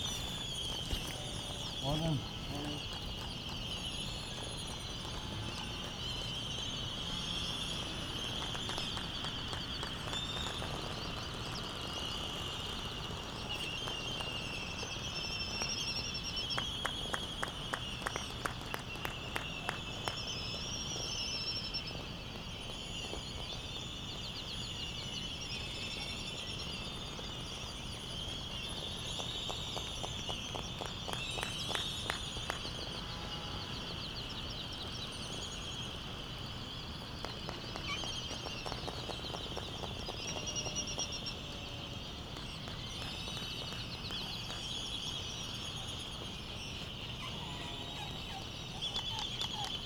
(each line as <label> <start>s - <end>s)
canaries 0.0s - 49.8s
white terns 0.0s - 49.8s
wind thru iron wood trees 0.0s - 49.8s
laysan albatross calls and bill clapperings 37.2s - 41.4s
laysan albatross calls and bill clapperings 46.8s - 49.8s